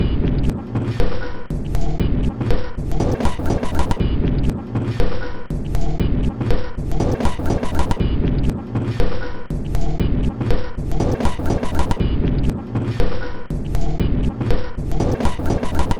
0.0s Drum Loop 15.9s

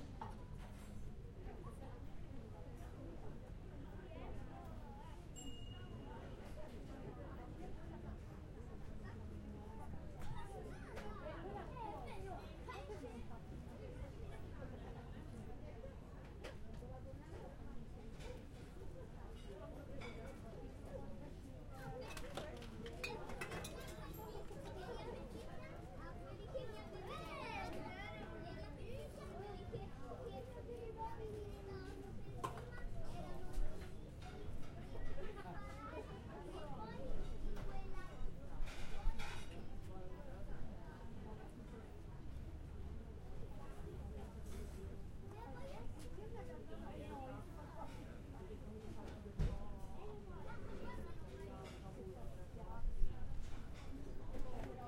1.4s people chatting 42.3s
5.4s bell calling waiters for dish ready 6.1s
43.3s people chatting 52.8s

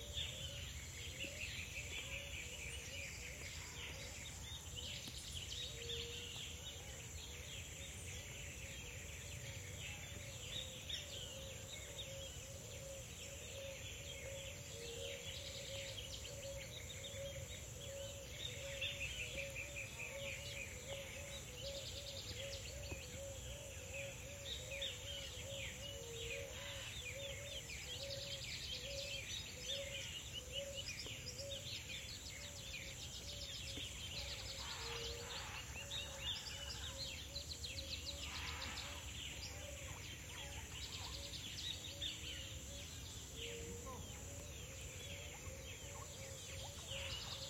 0.0s tropical birds 47.4s

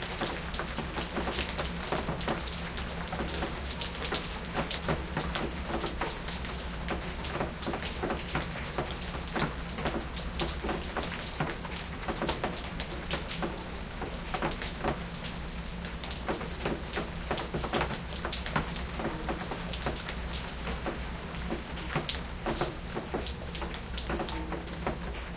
0.0s Rain drops falling 25.3s

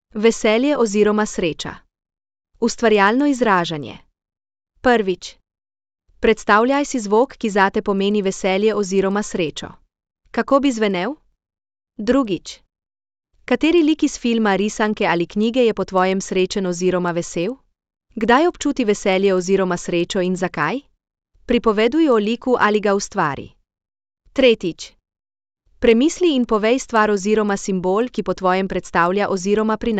0.1s speech 1.9s
2.6s speech 4.1s
4.8s speech 5.4s
6.2s speech 9.8s
10.4s speech 11.2s
12.0s speech 12.7s
13.5s speech 17.6s
18.2s speech 20.9s
21.5s speech 23.6s
24.4s speech 25.0s
25.8s speech 29.9s

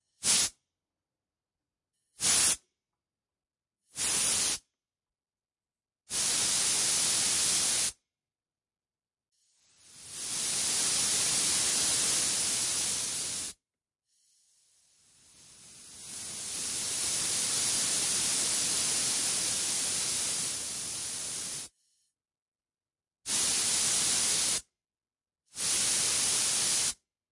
0.0s High pressure air 0.6s
2.2s High pressure air 2.6s
4.0s High pressure air 4.6s
6.1s High pressure air 8.0s
9.4s High pressure air 22.2s
23.3s High pressure air 24.7s
25.6s High pressure air 27.1s

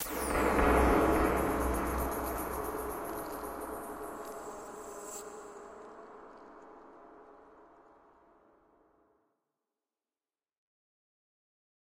0.0s Tweaked percussion 5.9s
0.0s cymbal sounds 6.9s

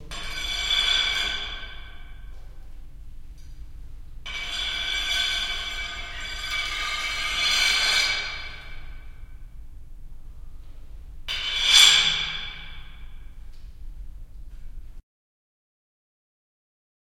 0.0s Metal Pipe Scraped on Concrete 2.5s
4.2s Metal Pipe Scraped on Concrete 9.4s
11.3s Metal Pipe Scraped on Concrete 13.4s

